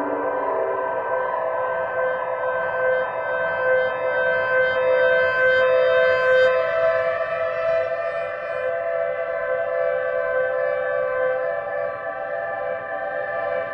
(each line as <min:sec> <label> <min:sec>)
0:00.0 piano 0:03.6